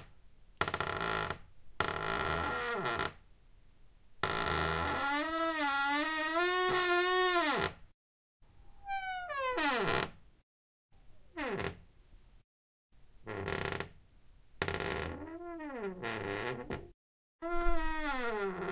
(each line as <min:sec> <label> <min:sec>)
0:00.6 Squeaky creaking door 0:03.2
0:04.2 Squeaky creaking door 0:07.8
0:08.8 Squeaky creaking door 0:10.2
0:11.4 Squeaky creaking door 0:11.8
0:13.3 Squeaky creaking door 0:13.9
0:14.6 Squeaky creaking door 0:18.7